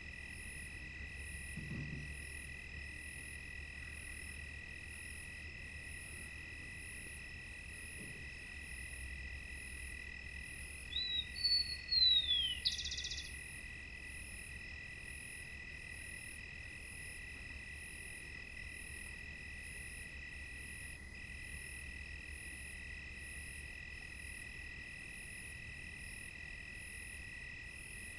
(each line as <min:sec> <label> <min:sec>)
0:00.0 cicadas 0:28.1
0:00.0 crickets 0:28.1